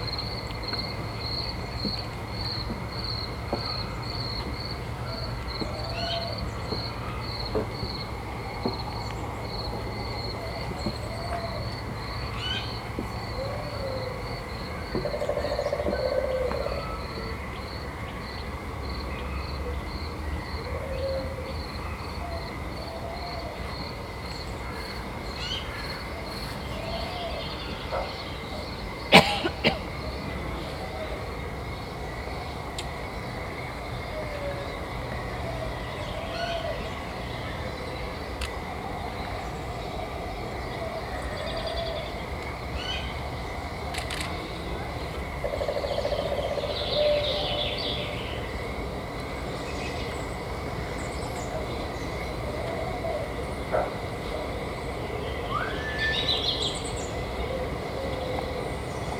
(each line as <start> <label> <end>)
43.9 photo clicks of visitors 44.7